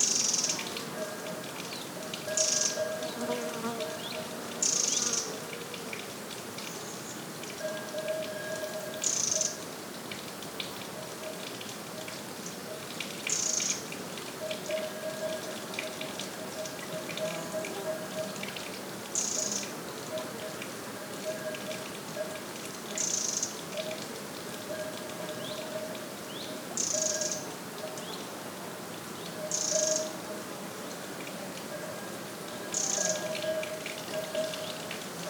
muchos insectos 0:32.0 - 0:35.2

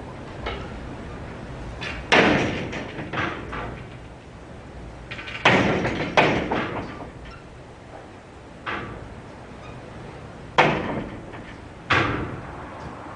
doors bang everywhere 0:01.8 - 0:04.2
doors bang everywhere 0:05.0 - 0:09.2
doors bang everywhere 0:10.3 - 0:12.7

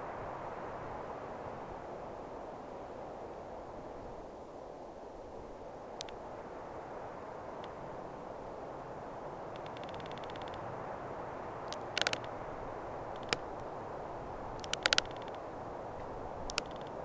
wind 0:00.0 - 0:17.0
firs trunks are cracking up 0:11.7 - 0:12.3
firs trunks are cracking up 0:14.6 - 0:15.4

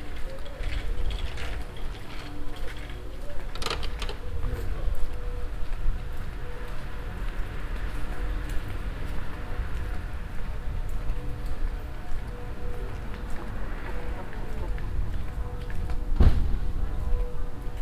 walking in the morning time along the keizergracht channel 0:00.0 - 0:17.8
church morning bells 0:04.2 - 0:17.8

